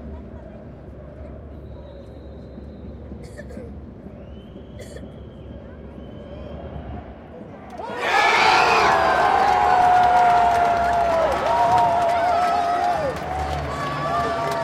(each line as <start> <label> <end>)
7.7 loud cheering 14.6
8.0 spectators clapping and drumming rythmically 14.6